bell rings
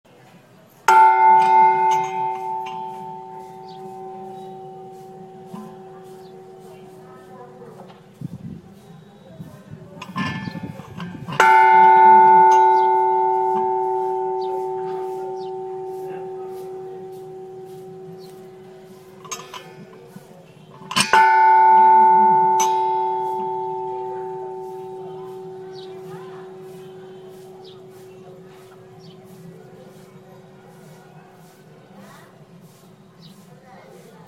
0.9s 7.8s, 10.0s 29.9s

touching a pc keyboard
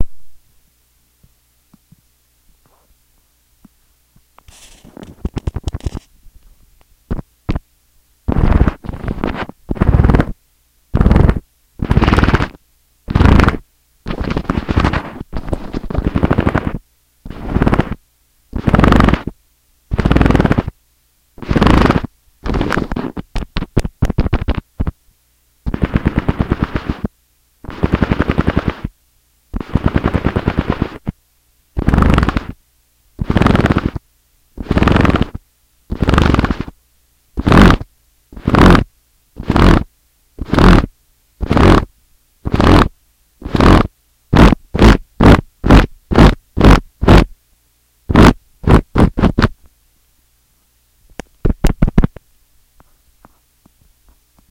4.4s 6.1s

